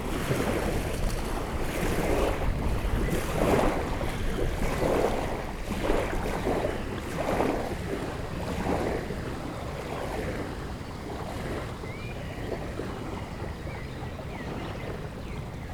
0.0s Wind 15.7s

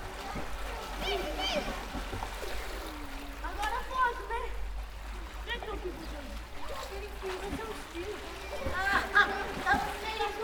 0.0s people swimming 10.4s
5.5s people talking 10.4s

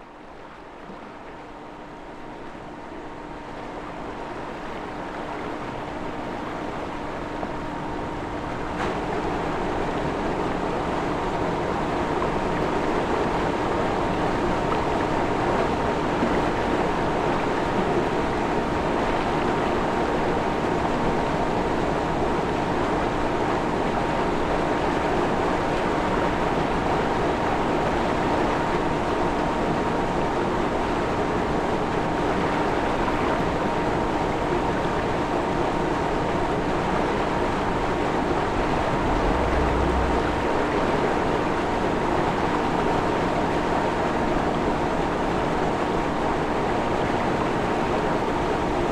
0.0s flowing water in canals, rivers 48.9s

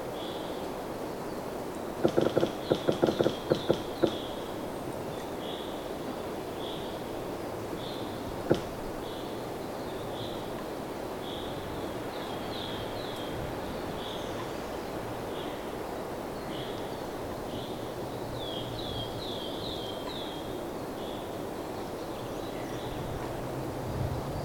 2.0s squeaking pine tree 4.4s

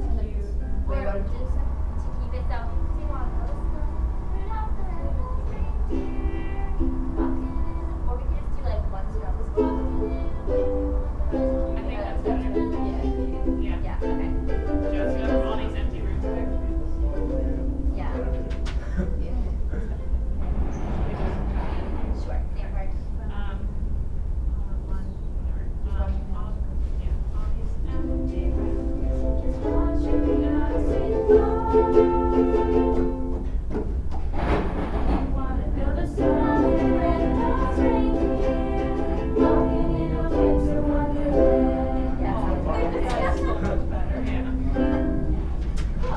5.2s holiday melody on ukuleles 8.2s
9.3s holiday melody on ukuleles 19.0s
27.9s holiday melody on ukuleles 33.9s
35.8s holiday melody on ukuleles 46.1s

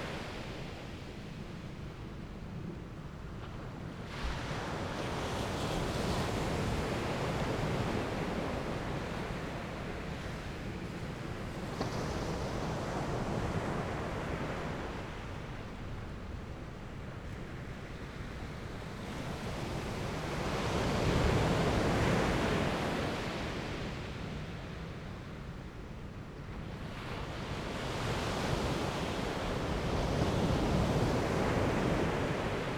0.0s Peacefull waves during the high tide 32.7s

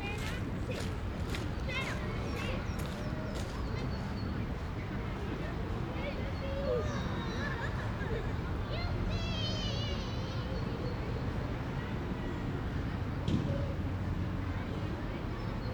0.0s children playing 4.1s
0.0s Lot of people out in the parc 15.7s
0.0s Street traffic 15.7s
5.4s children playing 11.2s

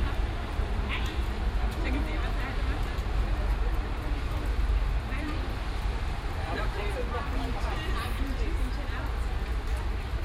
0.0s dialogue between some people 10.2s

